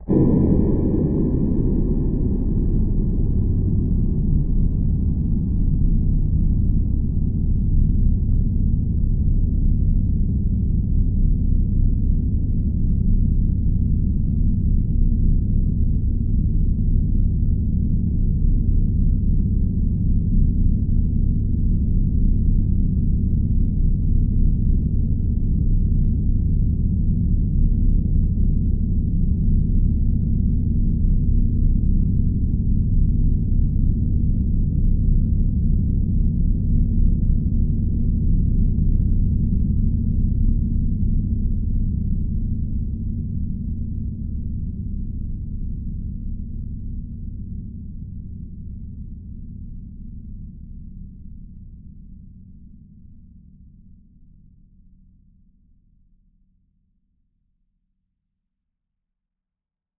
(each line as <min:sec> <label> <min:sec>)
0:00.1 beautiful PAD 0:06.7